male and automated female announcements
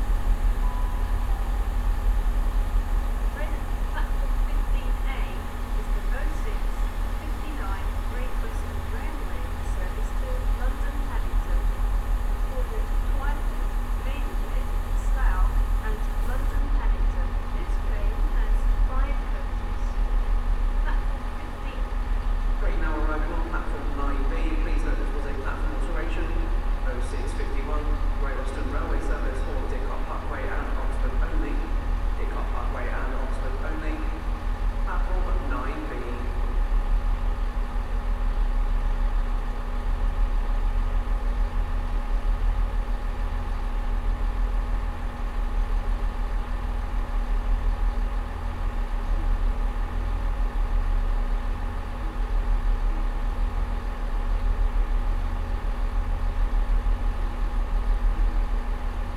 3.2s 20.2s, 20.8s 22.0s, 22.6s 36.4s

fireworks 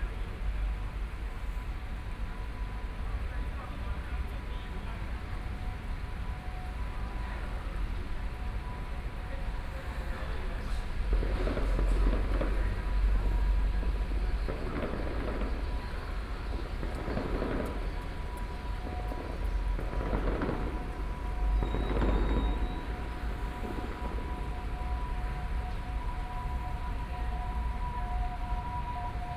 9.8s 27.0s

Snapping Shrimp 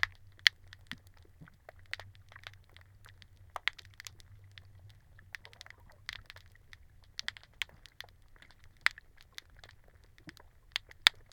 5.4s 11.3s

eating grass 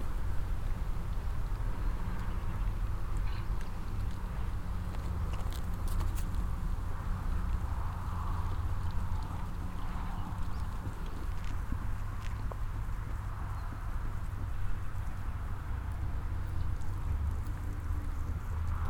7.1s 15.4s

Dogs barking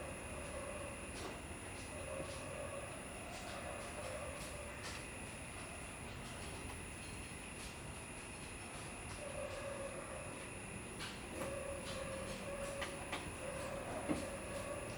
11.4s 14.9s

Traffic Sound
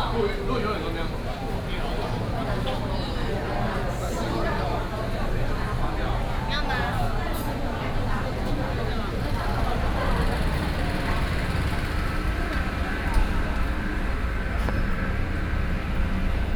7.3s 16.5s

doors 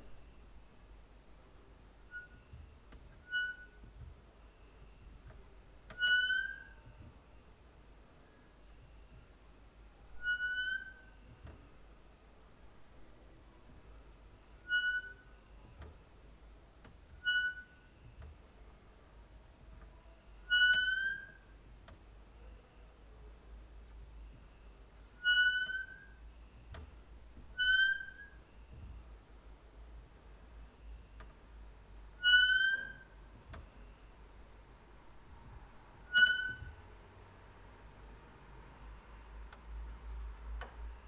32.1s 38.8s

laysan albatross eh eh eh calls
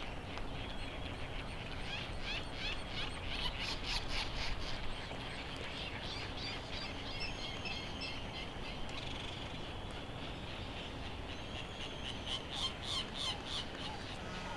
13.4s 14.5s

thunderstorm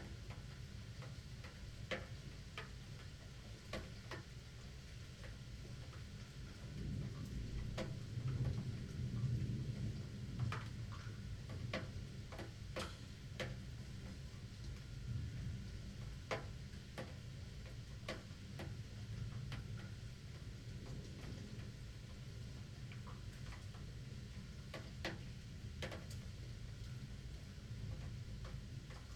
6.2s 29.1s

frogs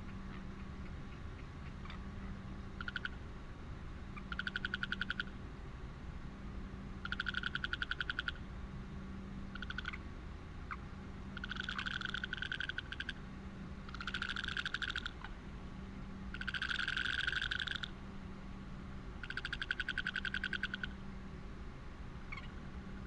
0.1s 3.4s, 4.1s 5.5s, 7.0s 8.5s, 9.5s 15.4s, 16.3s 18.1s, 19.2s 21.1s, 22.3s 23.0s

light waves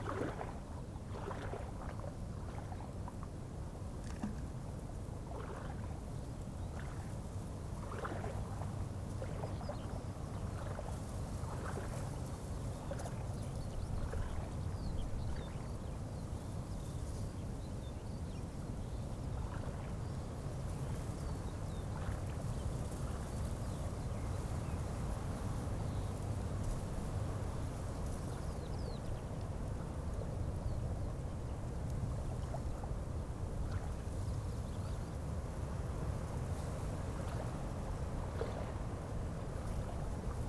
0.0s 3.2s, 5.3s 15.8s, 35.6s 40.4s

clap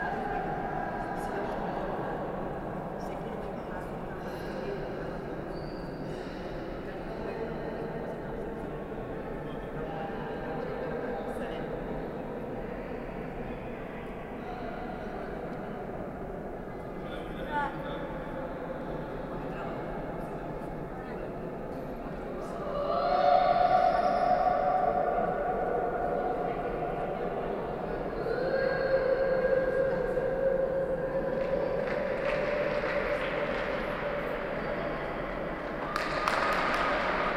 31.2s 35.0s, 35.6s 37.3s

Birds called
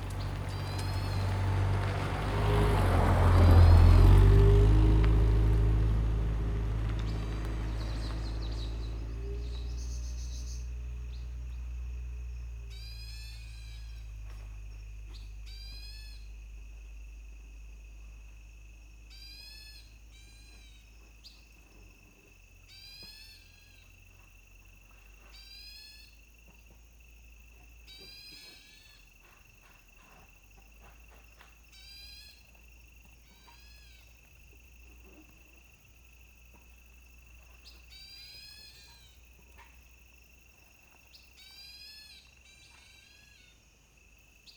0.0s 11.8s, 12.4s 14.4s, 37.5s 39.8s

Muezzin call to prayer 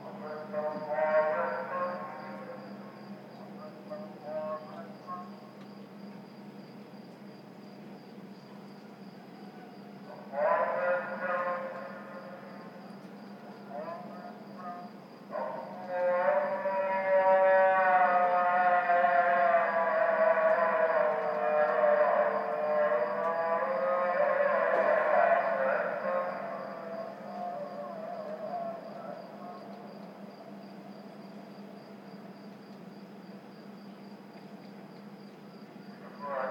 0.0s 5.7s, 9.4s 30.3s, 36.0s 36.5s

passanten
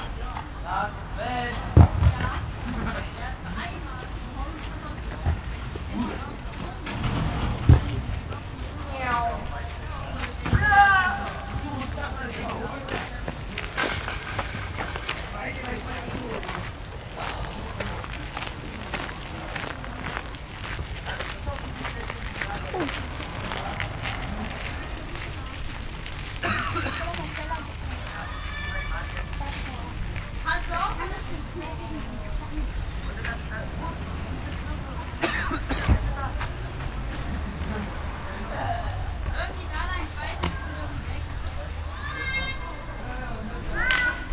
12.0s 44.3s

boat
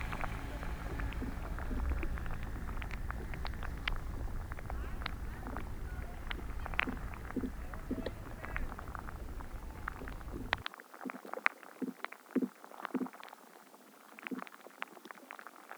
0.0s 10.6s

